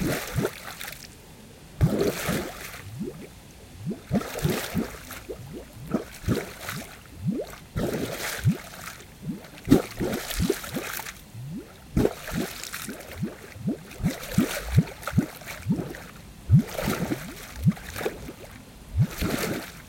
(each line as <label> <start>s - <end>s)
huge bubbles of air bubbling up from within the water 0.0s - 0.9s
huge splashes 0.0s - 1.1s
huge bubbles of air bubbling up from within the water 1.8s - 19.8s
huge splashes 1.8s - 19.8s